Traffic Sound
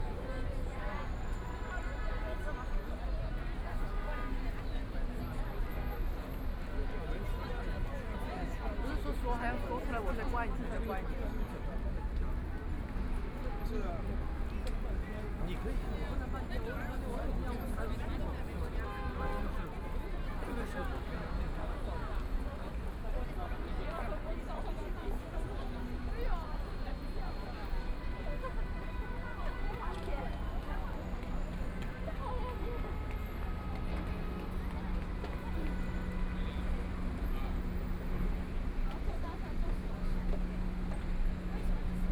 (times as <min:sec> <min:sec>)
0:11.4 0:42.1